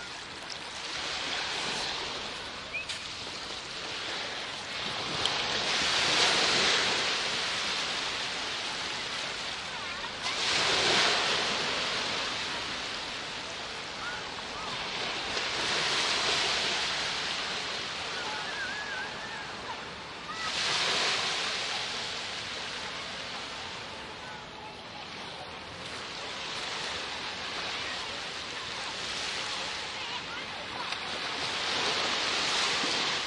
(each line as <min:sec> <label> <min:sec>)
0:00.0 sea gently encroaching further inward 0:33.2